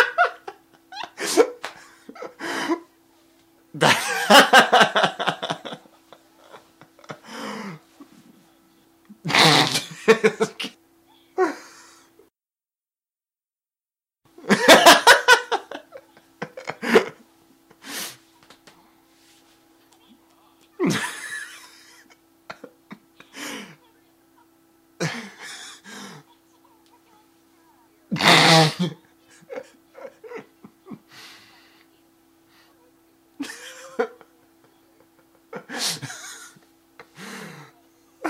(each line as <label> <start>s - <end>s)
man laughing in various ways 0.0s - 2.9s
man laughing in various ways 3.8s - 7.7s
man laughing in various ways 9.3s - 10.8s
man laughing in various ways 14.4s - 17.2s
man laughing in various ways 20.8s - 23.5s
man laughing in various ways 25.0s - 25.9s
man laughing in various ways 28.2s - 31.1s
man laughing in various ways 33.4s - 34.4s
man laughing in various ways 35.2s - 36.7s